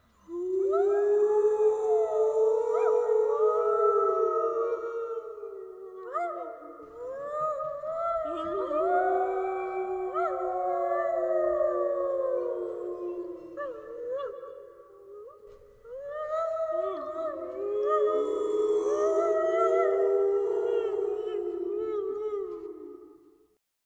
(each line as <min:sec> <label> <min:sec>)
0:00.3 Wolves/Huskey's Howling 0:14.4